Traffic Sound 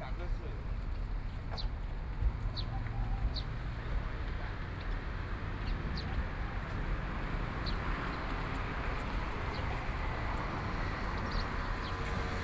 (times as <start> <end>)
2.7 12.4